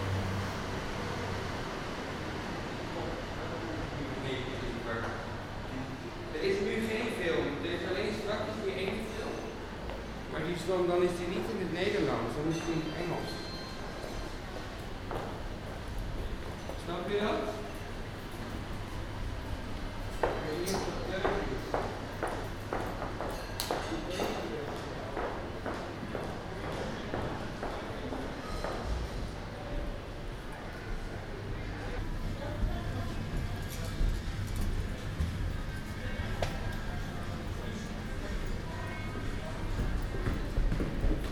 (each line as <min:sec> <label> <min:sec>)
0:03.0 Conversation 0:29.2